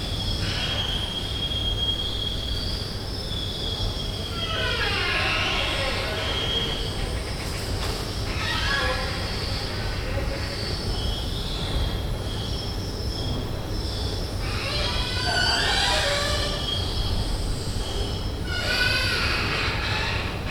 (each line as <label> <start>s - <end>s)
Creaking Escalator 4.2s - 11.0s
Creaking Escalator 14.4s - 20.5s